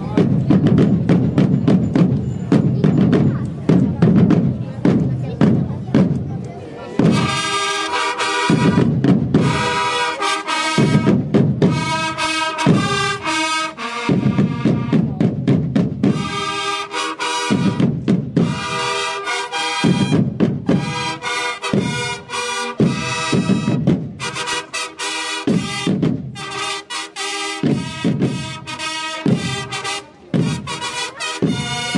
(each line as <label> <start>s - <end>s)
drumm roll 0.0s - 6.4s
drumm roll 7.0s - 31.9s
trumpets 7.0s - 15.2s
trumpets 16.0s - 31.9s